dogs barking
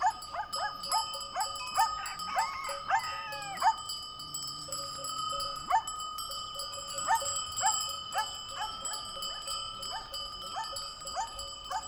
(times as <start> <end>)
0.0 3.9, 5.7 5.9, 7.1 11.8